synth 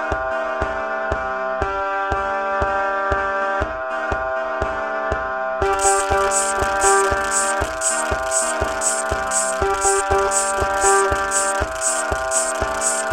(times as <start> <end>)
5.6 13.1